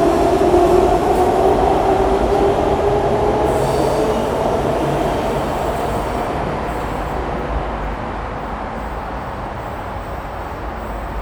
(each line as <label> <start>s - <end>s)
trains arriving 0.0s - 11.2s